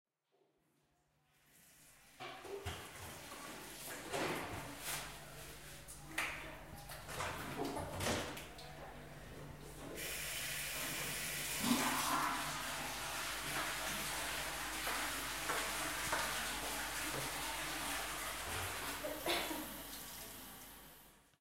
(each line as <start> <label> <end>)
1.4 water 4.8
6.0 water 9.1
10.0 water 21.2
10.0 flushing 21.2